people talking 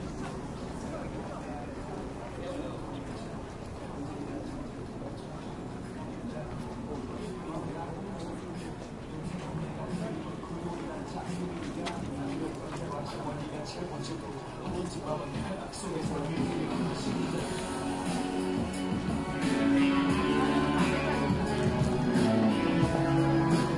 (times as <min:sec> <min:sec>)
0:00.0 0:17.7